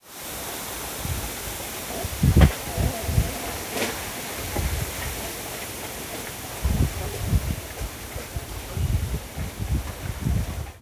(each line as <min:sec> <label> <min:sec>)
0:00.0 wind and bamboo trees 0:10.8